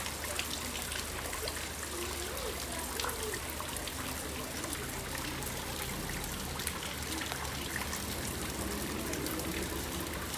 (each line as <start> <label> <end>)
0.0 moving water 10.3
0.0 small boat is ascending the canal 10.3